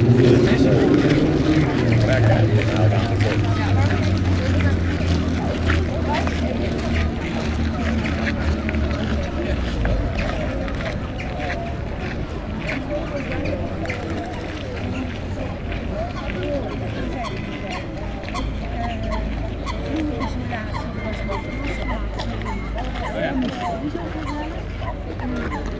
people walking 0:00.0 - 0:25.7
Eurasian Coot 0:15.9 - 0:25.7

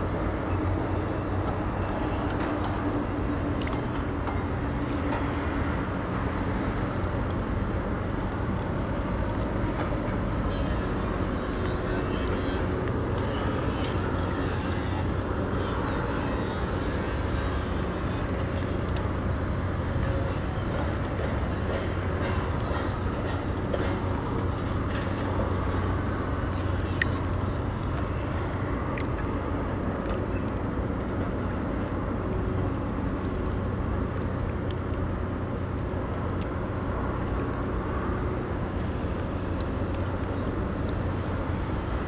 rumble of traffic on a nearby bridge 0:00.0 - 0:42.0
lapping riverwater 0:00.0 - 0:42.0
construction noise 0:00.3 - 0:32.9

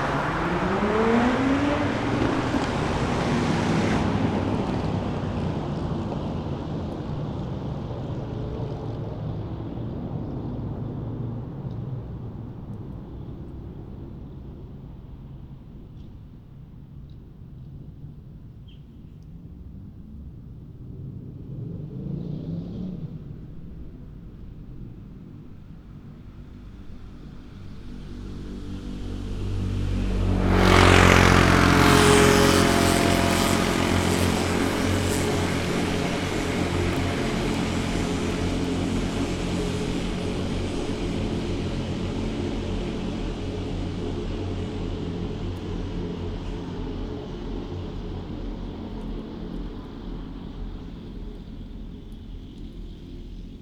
Vehicles going in and out of the tunnel 0:00.0 - 0:53.6

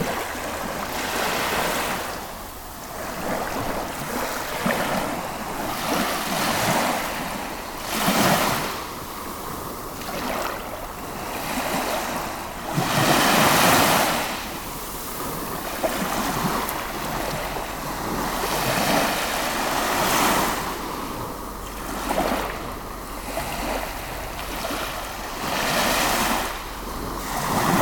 constant waves on the stoney berach shore 0:00.0 - 0:27.8
mild wind breeze 0:00.0 - 0:27.8

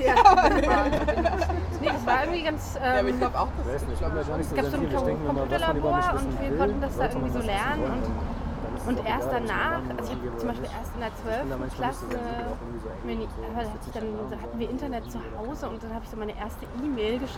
street ambience 0:00.0 - 0:17.3
talk 0:00.0 - 0:17.3

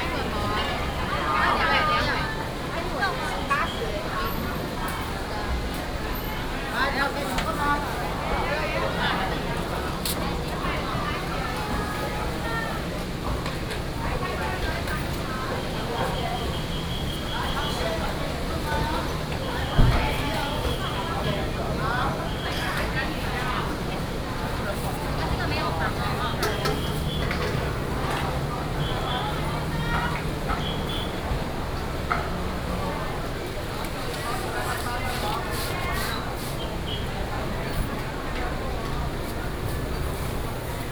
traffic sound 0:00.0 - 0:40.9
whistle of traffic 0:15.9 - 0:21.4
whistle of traffic 0:25.6 - 0:31.8

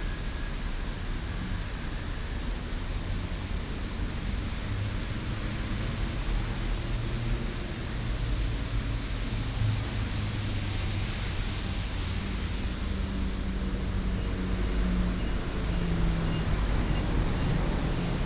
Traffic Sound 0:13.4 - 0:18.2

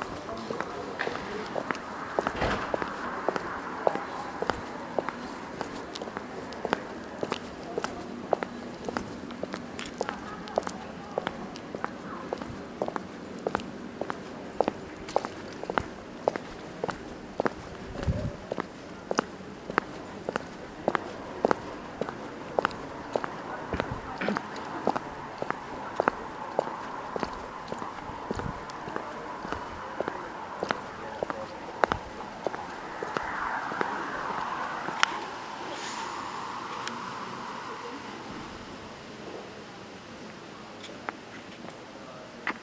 footfalls 0:00.0 - 0:08.0
wind blowing leaves 0:00.0 - 0:41.3
footfalls 0:15.1 - 0:36.6

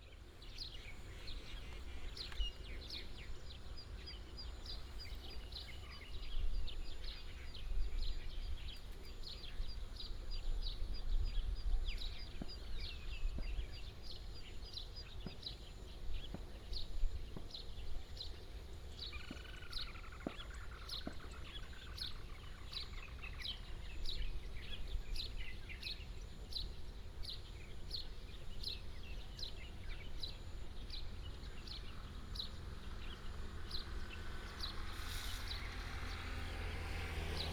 Bird sound 0:00.0 - 0:37.5

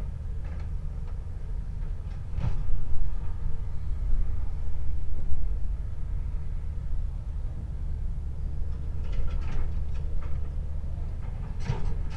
excavator with a hydraulic hammer attachment operating in the distance 0:07.3 - 0:12.1

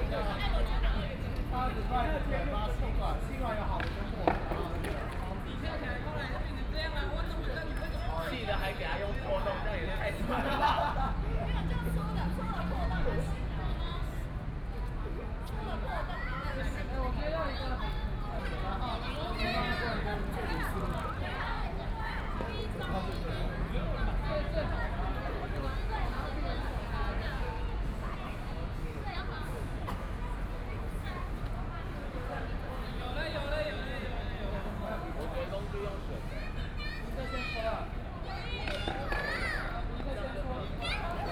young people are practicing skateboard and dance 0:00.0 - 0:06.7
young people are practicing skateboard and dance 0:37.0 - 0:41.3

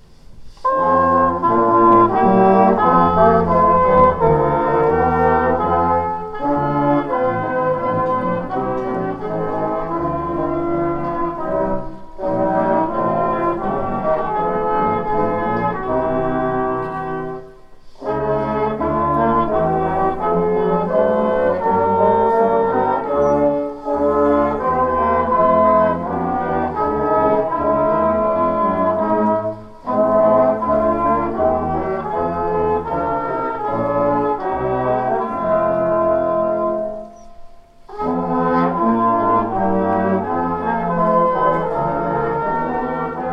Brass band 0:00.0 - 0:43.3

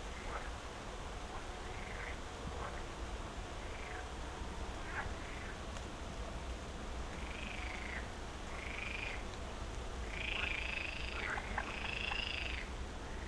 a bit of rain 0:00.0 - 0:13.2
wind 0:00.0 - 0:13.2

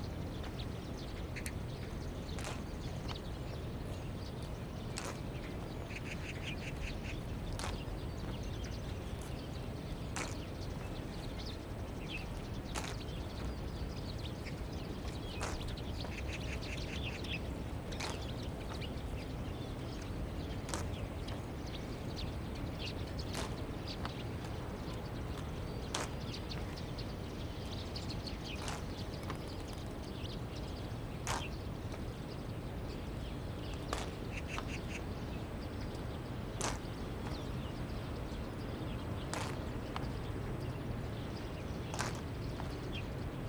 Footsteps 0:36.6 - 0:37.4
Footsteps 0:41.9 - 0:42.8

